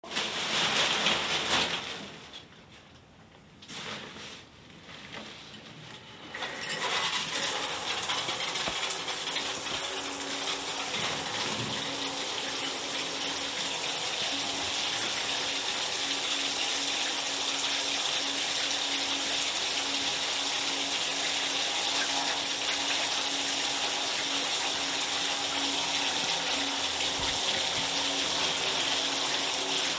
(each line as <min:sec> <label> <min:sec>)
0:06.4 Taking a shower 0:29.9